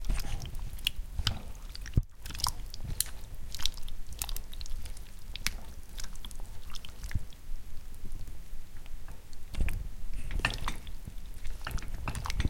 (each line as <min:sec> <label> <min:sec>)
0:00.0 mud 0:08.3
0:09.0 mud 0:12.4